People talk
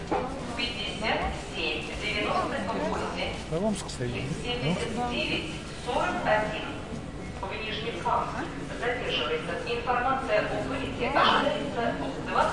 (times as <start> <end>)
0.6 6.8